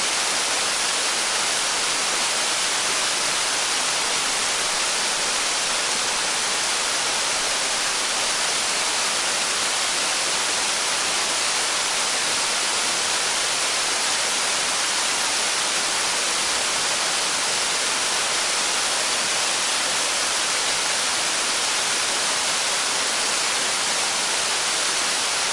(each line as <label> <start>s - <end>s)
Medium-sized waterfall 0.0s - 25.5s